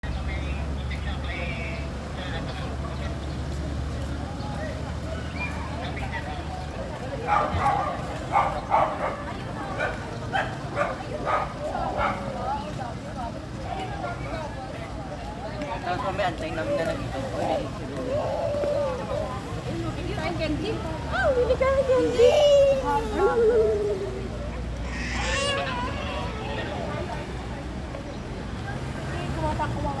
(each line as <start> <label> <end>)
0.0 conversations being discreetly carried out 30.0
0.1 visitors walking on gravel pathways 30.0